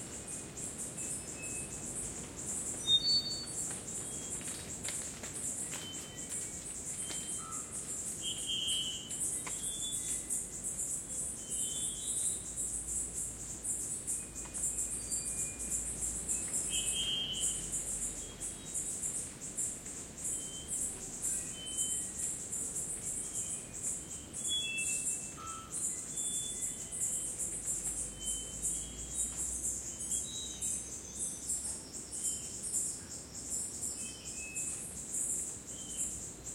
wind 0:00.0 - 0:36.5
birds 0:00.1 - 0:36.5

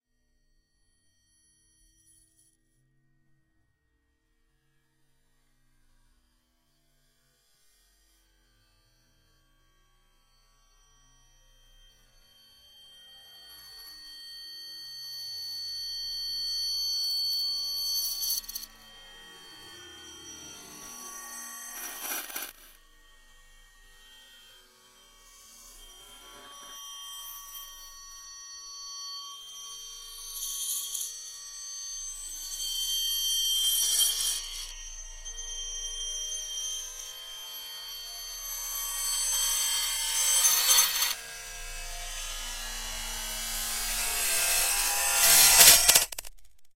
long glass break in reverse 0:44.6 - 0:46.4

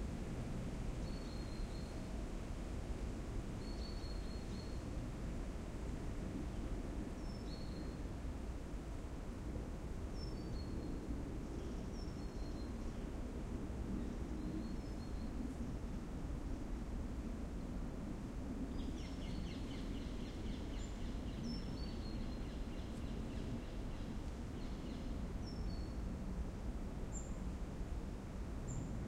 moderate to strong wind in the trees 0:00.0 - 0:29.0
small birds shirping from time to time 0:18.6 - 0:26.2

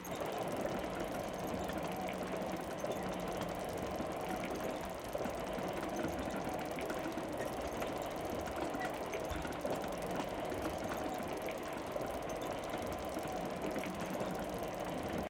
motors 0:00.0 - 0:15.2

